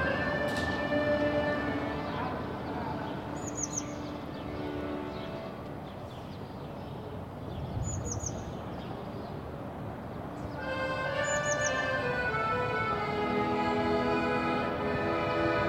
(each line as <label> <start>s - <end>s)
playing the accordion 0.0s - 5.8s
busker on the street 0.0s - 15.6s
playing the accordion 10.6s - 15.6s